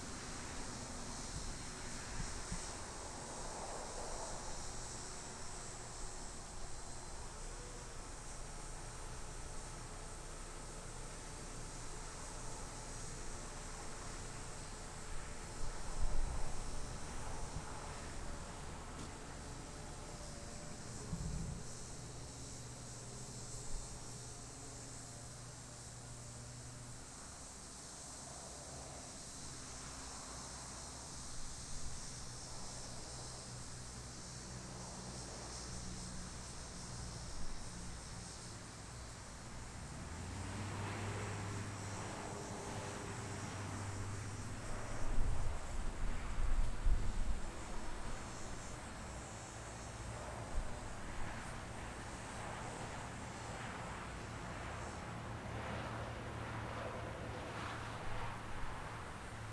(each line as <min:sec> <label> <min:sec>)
0:00.0 locusts or cicadas 0:59.5